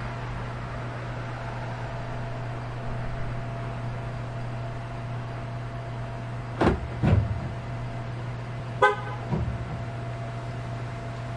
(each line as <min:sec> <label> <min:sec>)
0:00.0 constant electrical hum 0:11.3
0:00.0 traffic passes 0:11.3
0:08.8 honk on the double-press 0:09.4